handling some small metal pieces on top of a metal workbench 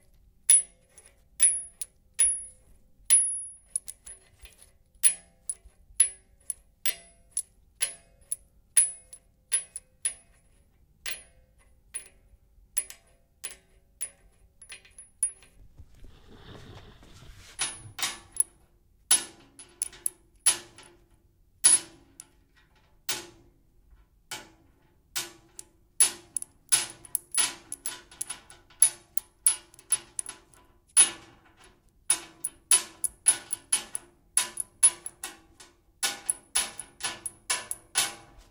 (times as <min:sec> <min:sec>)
0:14.6 0:18.6